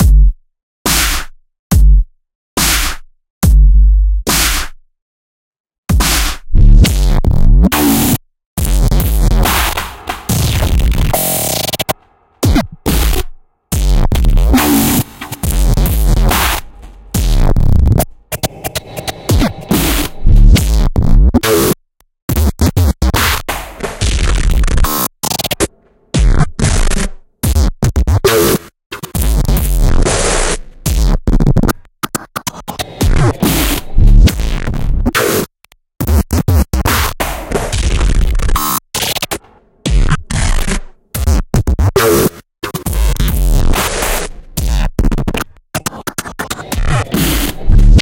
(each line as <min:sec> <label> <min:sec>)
0:00.9 snare 0:01.4
0:02.6 snare 0:03.1
0:04.3 snare 0:04.8
0:05.9 snare 0:08.2
0:08.8 snare 0:20.8
0:21.4 snare 0:27.2
0:32.1 snare 0:34.4
0:35.1 snare 0:48.0